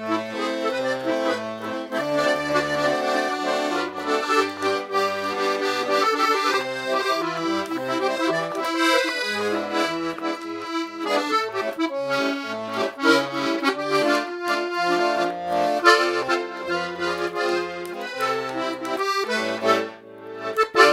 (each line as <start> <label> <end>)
0.0 song played on accordion 20.9